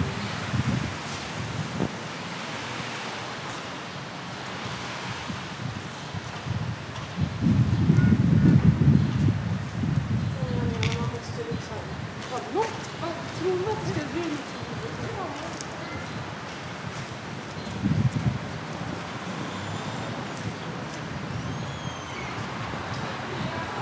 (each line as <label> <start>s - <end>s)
walkers in the street 0.0s - 23.8s
people in the terrasse 9.3s - 23.8s